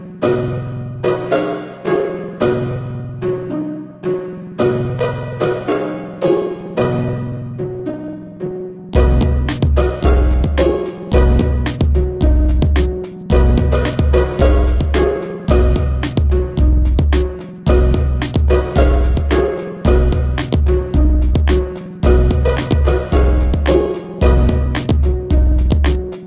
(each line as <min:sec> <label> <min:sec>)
0:00.0 Music 0:26.2